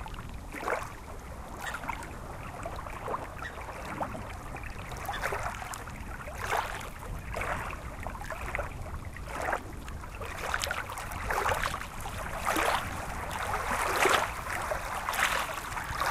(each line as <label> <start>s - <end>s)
Lake water 0.0s - 16.1s